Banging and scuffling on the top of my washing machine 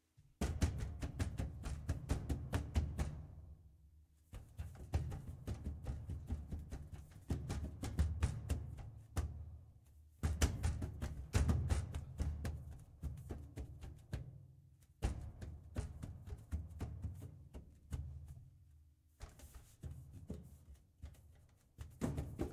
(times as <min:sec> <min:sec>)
0:19.2 0:22.5